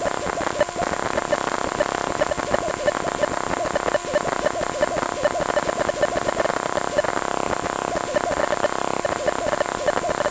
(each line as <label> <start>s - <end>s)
buzz 0.0s - 10.3s
bleep 2.2s - 7.1s
bleep 8.0s - 10.3s